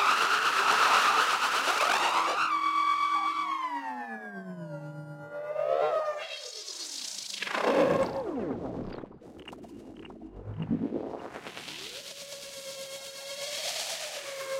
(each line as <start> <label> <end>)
0.0 drone 14.5
1.9 Space cartoon noises 11.6